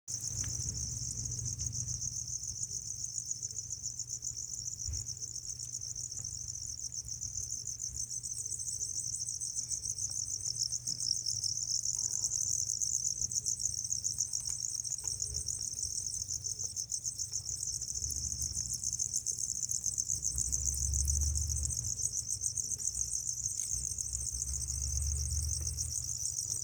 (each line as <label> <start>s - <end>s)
Many Crickets Chirping, Close Perspective 0.1s - 26.6s